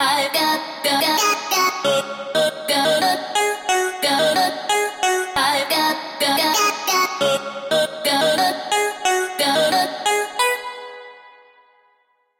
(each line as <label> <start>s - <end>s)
Vocals 0.0s - 11.9s